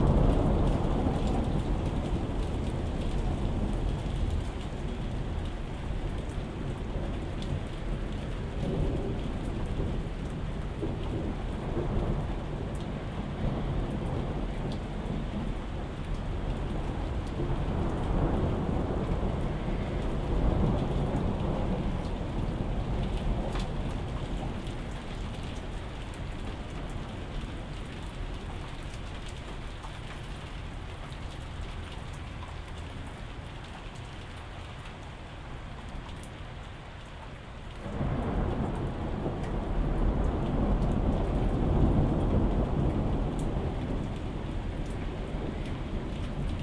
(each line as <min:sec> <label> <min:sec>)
0:00.0 thunderstorm 0:36.7
0:00.0 heavy rain 0:46.6
0:37.0 small bits of hail landing on my balcony 0:46.6
0:37.3 thunderstorm 0:46.6